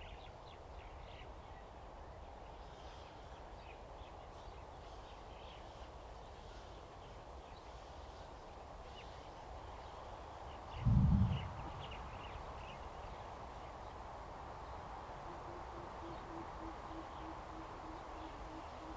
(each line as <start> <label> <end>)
0.0 Wind 18.9